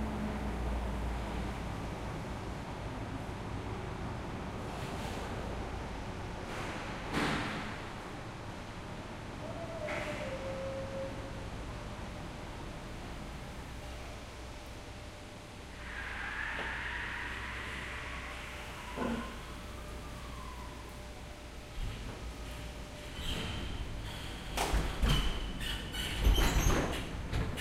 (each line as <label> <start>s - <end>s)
truck 0.0s - 27.6s
forklift 9.8s - 27.6s